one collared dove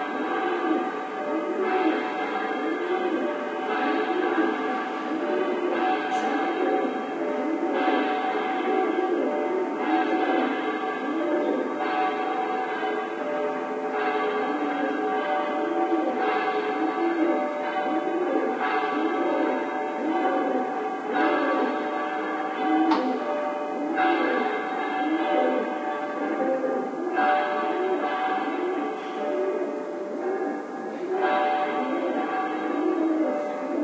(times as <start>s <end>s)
31.8s 33.8s